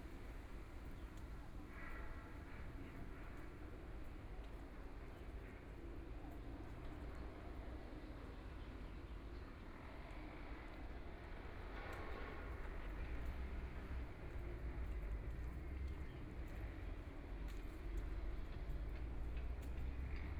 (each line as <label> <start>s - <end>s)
walking in the Street 10.3s - 20.3s